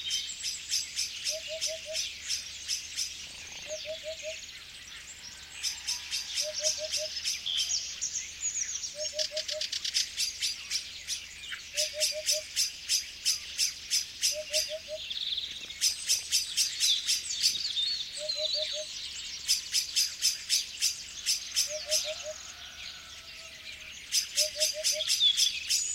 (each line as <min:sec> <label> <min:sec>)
0:00.0 birds singing 0:25.9
0:00.0 blackbird 0:25.9
0:11.7 hoopoe 0:12.6
0:14.3 hoopoe 0:15.1
0:21.6 hoopoe 0:23.5
0:24.1 hoopoe 0:25.2